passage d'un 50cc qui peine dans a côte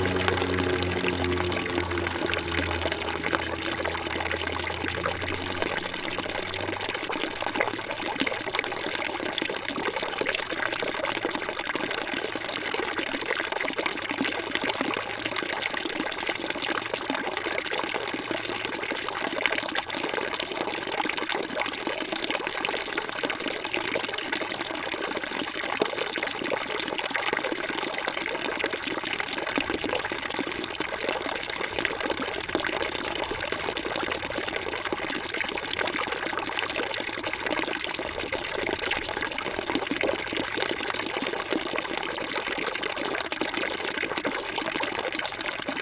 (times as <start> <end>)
0.0 8.3